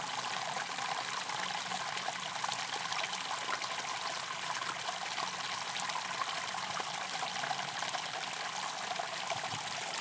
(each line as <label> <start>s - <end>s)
little river 0.0s - 10.0s